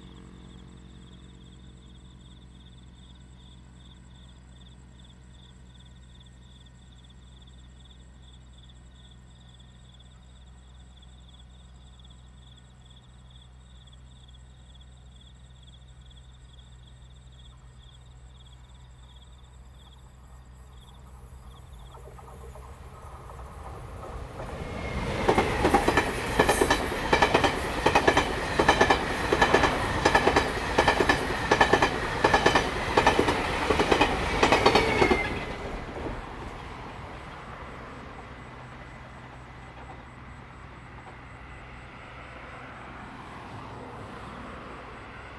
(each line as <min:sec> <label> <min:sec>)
0:00.0 Insect 0:45.3
0:17.6 The train runs through 0:45.3
0:20.0 Traffic sound 0:45.3